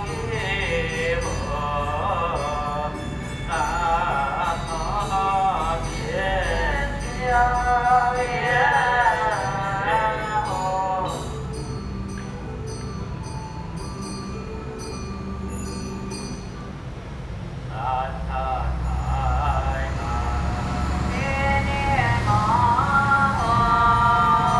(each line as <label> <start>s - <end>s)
Traditional temple rituals 0.0s - 24.5s